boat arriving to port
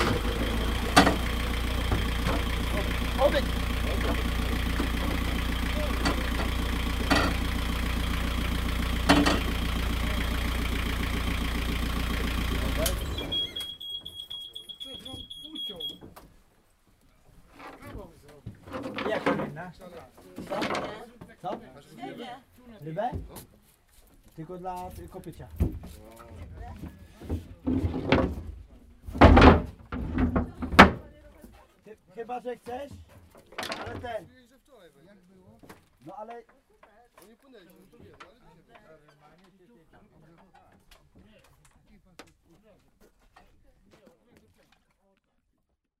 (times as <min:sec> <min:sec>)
0:00.0 0:16.0